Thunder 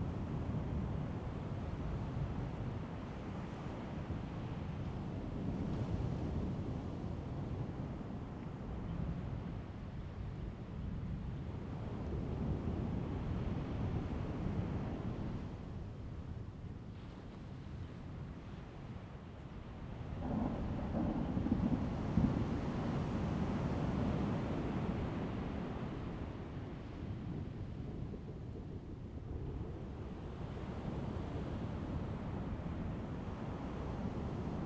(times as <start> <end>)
20.0 33.2